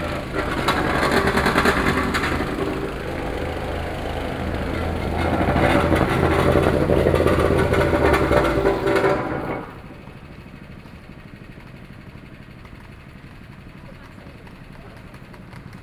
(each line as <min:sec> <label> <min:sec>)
0:00.0 Construction noise 0:10.9
0:00.0 Being filled and paved road 0:15.8